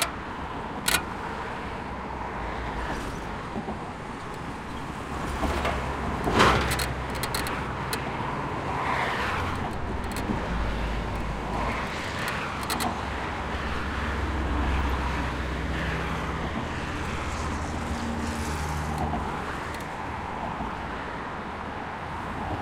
bridge creak 0.0 - 1.7
cars 0.0 - 22.6
bridge creak 4.0 - 14.0

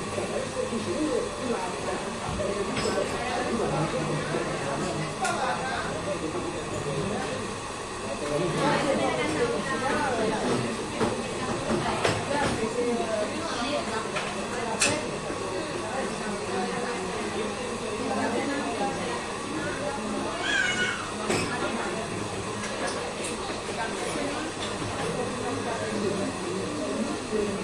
people talking 0.0 - 27.6

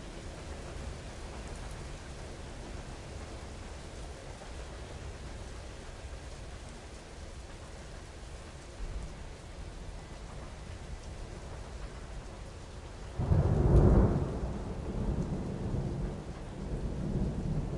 rain 0.0 - 17.7
thunder 13.1 - 17.7

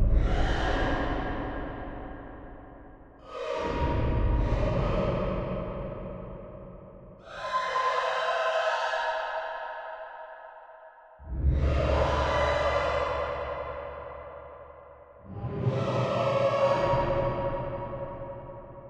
insane opera-like singing 7.2 - 9.5
insane opera-like singing 11.4 - 13.7

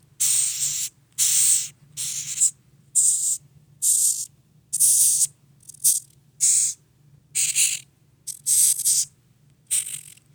Madagascar Hissing Cockroach, Several Hisses 0.2 - 6.8
Madagascar Hissing Cockroach, Several Hisses 7.4 - 9.1
Madagascar Hissing Cockroach, Several Hisses 9.7 - 10.2

